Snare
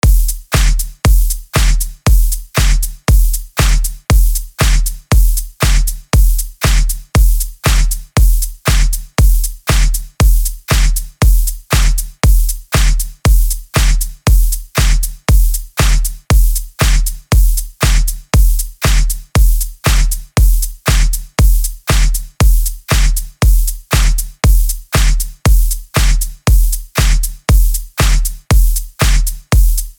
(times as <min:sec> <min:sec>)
0:00.5 0:01.9, 0:02.6 0:03.0, 0:03.6 0:04.0, 0:04.6 0:05.0, 0:05.6 0:06.0, 0:06.6 0:07.0, 0:07.6 0:08.0, 0:08.7 0:09.0, 0:09.7 0:10.1, 0:10.7 0:11.1, 0:11.7 0:12.1, 0:12.7 0:13.1, 0:13.8 0:14.1, 0:14.8 0:15.1, 0:15.8 0:16.2, 0:16.8 0:17.2, 0:17.8 0:18.2, 0:18.8 0:19.2, 0:19.8 0:20.2, 0:20.9 0:21.2, 0:21.9 0:22.2, 0:22.9 0:23.3, 0:23.9 0:24.3, 0:25.0 0:25.3, 0:26.0 0:26.3, 0:27.0 0:27.3, 0:28.0 0:28.4, 0:29.0 0:29.4